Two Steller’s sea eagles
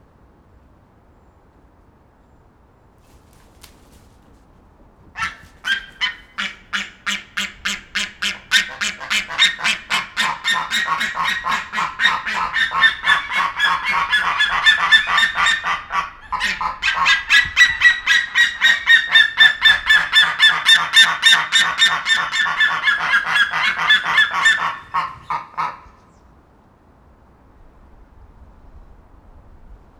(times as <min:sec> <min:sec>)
0:03.0 0:26.3